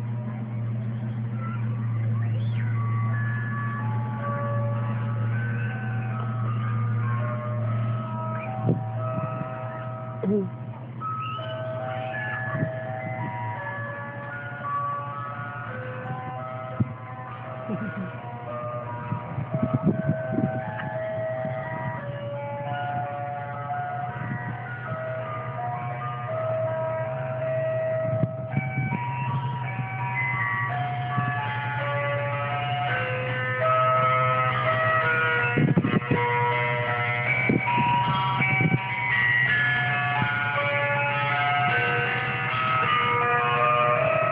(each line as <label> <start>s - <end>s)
Greensleeves melody on speaker 0.0s - 44.3s
old Ice cream truck idling and coming closer 0.0s - 44.3s